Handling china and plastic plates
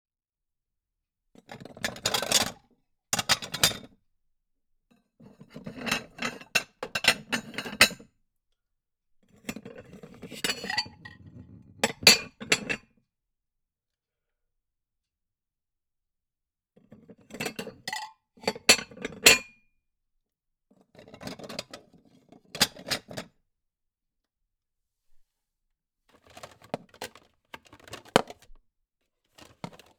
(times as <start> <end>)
29.4 29.9